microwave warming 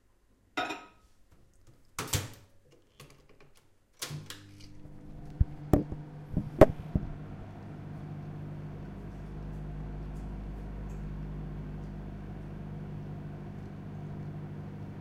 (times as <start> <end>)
4.1 15.0